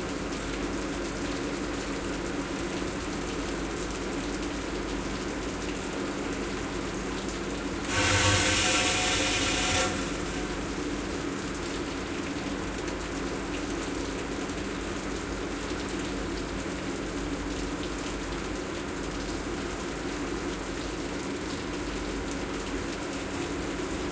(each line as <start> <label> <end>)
0.0 Old filtration system , spritz 24.1